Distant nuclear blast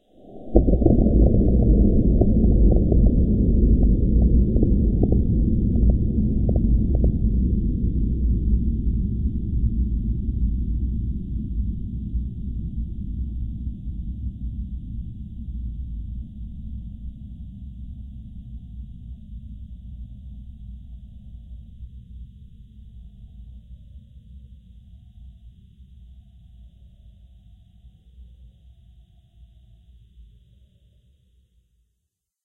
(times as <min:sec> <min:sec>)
0:00.2 0:08.6